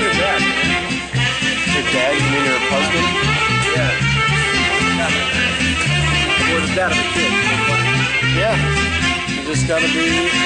Saxophone plays 0:00.0 - 0:10.4

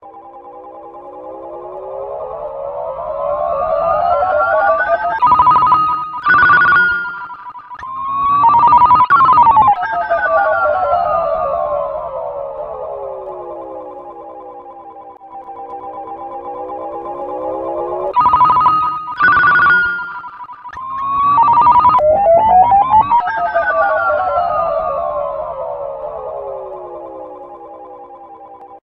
Ringtone 0:00.0 - 0:28.8

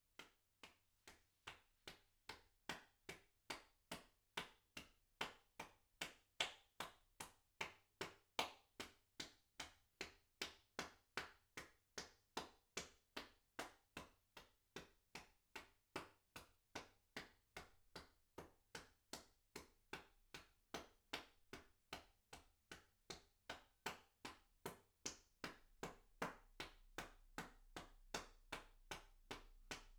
Applause 0:01.9 - 0:09.0
Applause 0:09.6 - 0:14.1
Applause 0:20.8 - 0:29.9

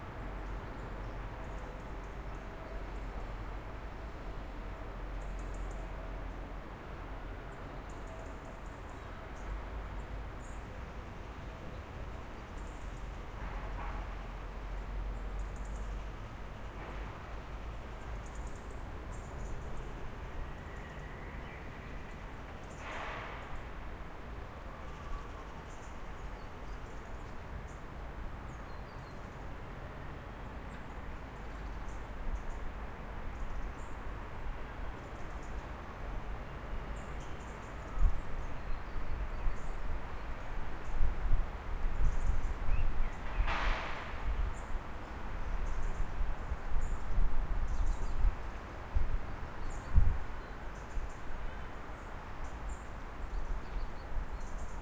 distant traffic 0:00.0 - 0:54.8

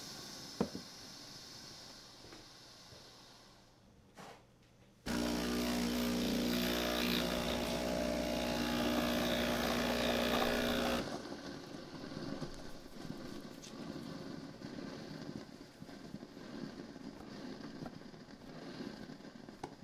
steaming milk on the espresso machine 0:00.0 - 0:03.9
steaming milk on the espresso machine 0:05.1 - 0:19.8

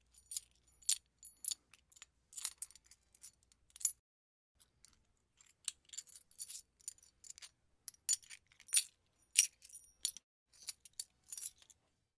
Handling large coins 0:00.0 - 0:04.0
Handling large coins 0:04.6 - 0:12.0

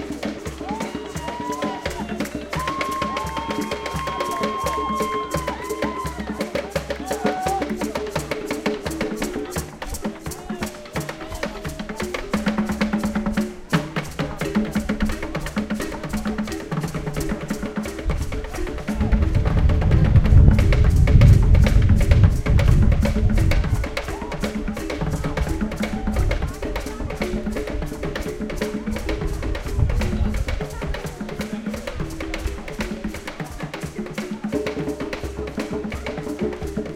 Street musicians 0:00.0 - 0:36.9

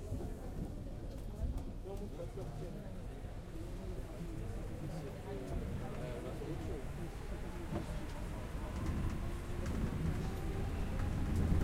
voice 0:00.0 - 0:11.6
metro 0:04.0 - 0:11.6

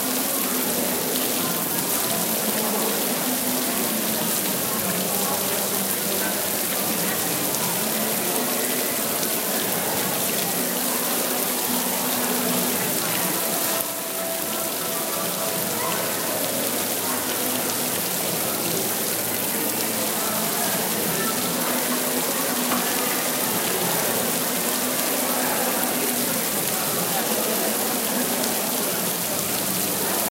fountain 0:00.0 - 0:30.3

